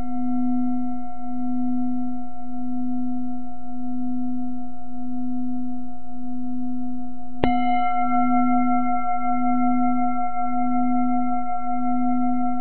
0.0s bowl 12.6s

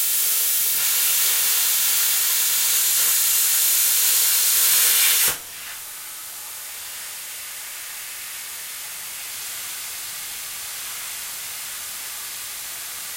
0.0s plasma cutter to cut a metal plate in pieces 5.7s

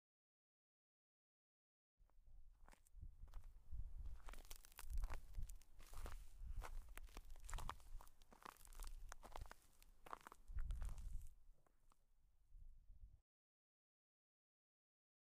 2.7s Walking on ice 11.8s

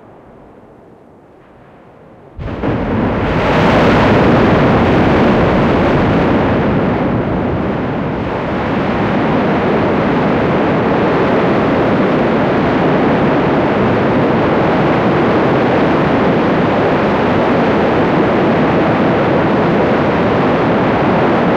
0.0s (small) eruption 21.5s
2.2s boiling, glowing lava in the crater 21.5s

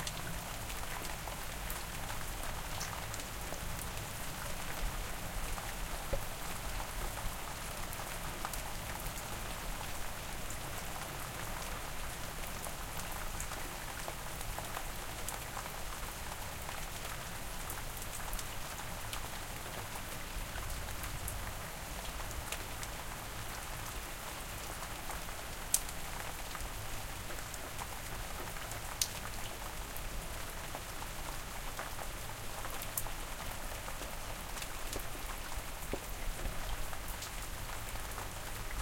0.0s rain 38.8s

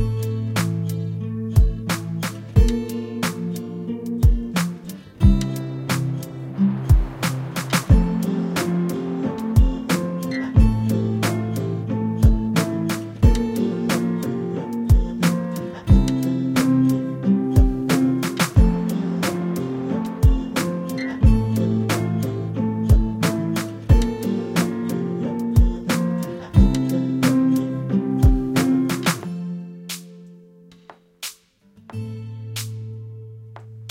0.0s drum loop 1.0s
0.0s acoustic guitar 33.9s
1.6s drum loop 17.0s
17.6s drum loop 27.6s
28.2s drum loop 29.3s

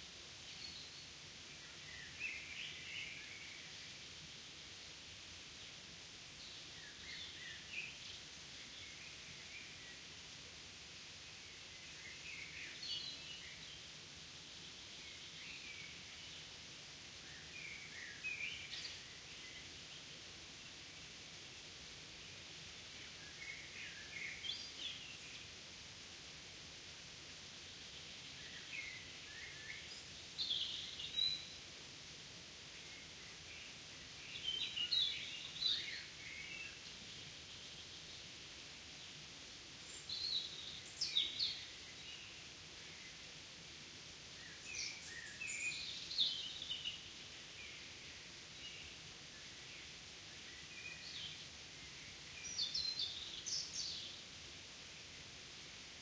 39.7s birdsong 43.3s
44.3s birdsong 54.2s

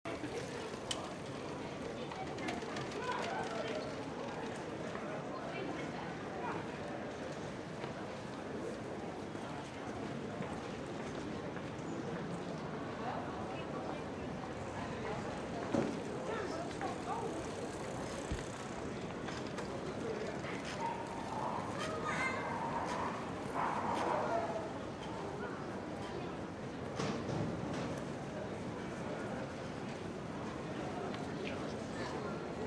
0.1s General noise market 32.6s
14.2s bike passing 21.8s
22.5s dog barking 24.5s

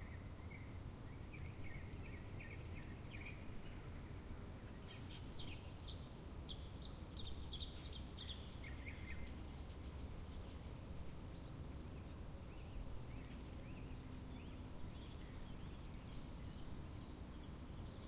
0.0s birds 18.0s

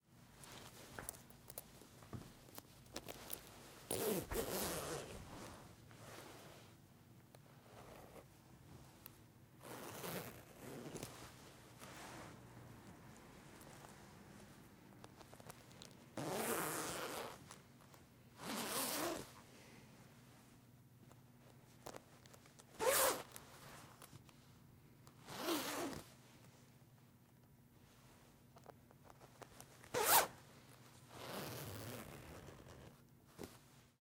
3.0s zipping and unzipping my jacket 6.4s
9.6s zipping and unzipping my jacket 11.2s
16.2s zipping and unzipping my jacket 17.5s
18.4s zipping and unzipping my jacket 19.3s
22.8s zipping and unzipping my jacket 23.4s
25.2s zipping and unzipping my jacket 26.1s
29.8s zipping and unzipping my jacket 30.3s
31.1s zipping and unzipping my jacket 33.6s

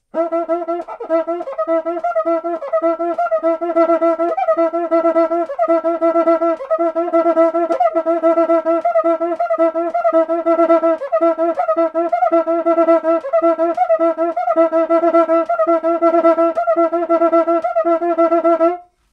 0.0s samba batucada instrument, making typical sqeaking sounds 18.9s

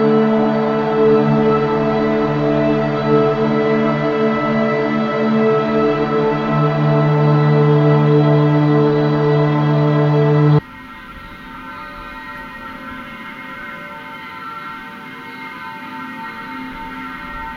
0.0s melodic and chordal washes 10.6s

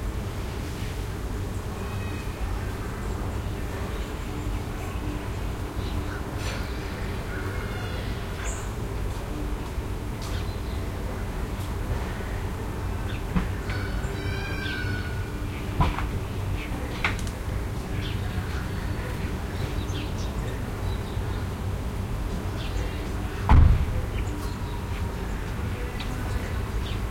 0.0s Wind through trees 27.1s
0.6s children in the distance 27.1s
12.3s bird calls 17.1s

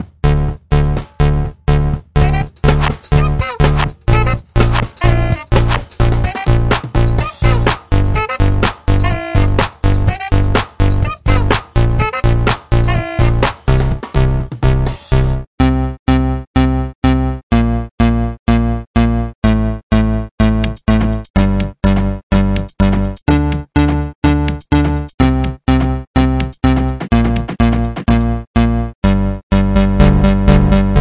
0.9s sound beat 15.3s
20.4s sound beat 23.6s
24.3s sound beat 25.6s
26.2s sound beat 28.3s

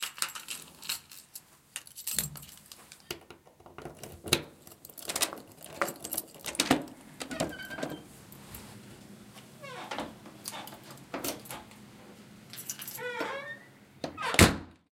3.1s door opens and gets closed 8.1s
3.9s Key unlocks a squeaky door 8.1s
9.6s door opens and gets closed 11.8s
9.6s Key unlocks a squeaky door 11.7s
12.6s Key unlocks a squeaky door 14.7s
12.6s door opens and gets closed 14.9s

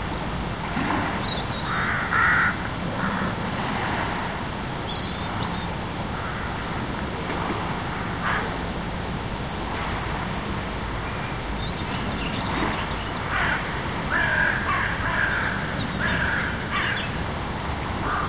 0.0s tide 18.2s
1.7s crow 3.3s
11.6s sparrows 17.2s
13.3s crow 17.1s
18.0s crow 18.2s

